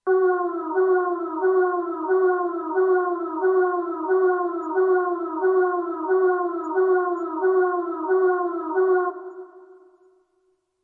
0.0s Alarm signal for emergencies/burglaries 10.1s

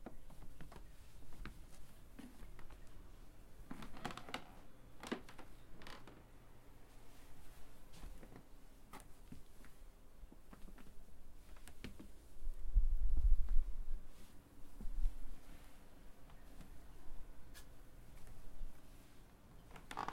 0.0s Walking on a wooden creaky floor 2.9s
3.6s Walking on a wooden creaky floor 6.3s
19.5s Walking on a wooden creaky floor 20.1s

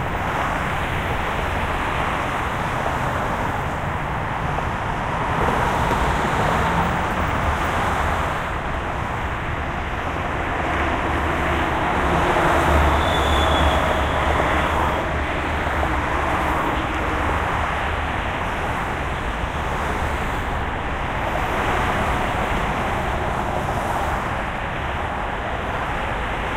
0.0s traffic 26.5s
0.0s trucks 26.5s

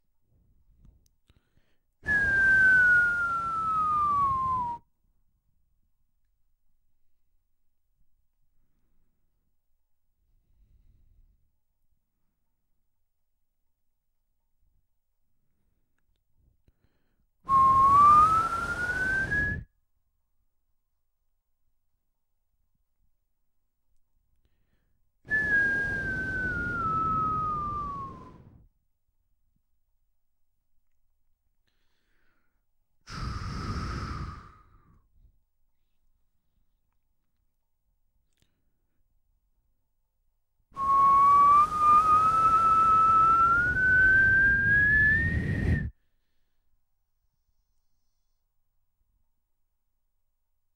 2.0s someone whistling, imitating the sound of a bomb dropping 4.9s
17.5s someone whistling, imitating the sound of a bomb dropping 19.7s
25.3s someone whistling, imitating the sound of a bomb dropping 28.7s
40.8s someone whistling, imitating the sound of a bomb dropping 45.9s

